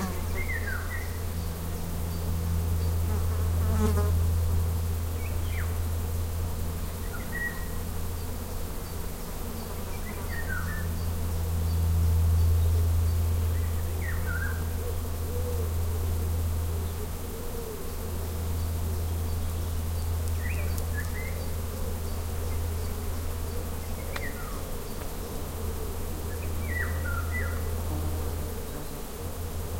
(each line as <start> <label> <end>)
0.0 Golden Oriole singing 3.0
7.0 Golden Oriole singing 9.0
9.6 Golden Oriole singing 15.8
18.5 Golden Oriole singing 25.4
26.3 Golden Oriole singing 27.8